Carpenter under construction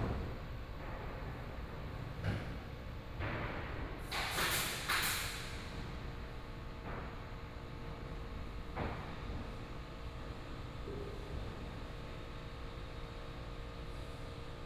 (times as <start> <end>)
0.8 7.4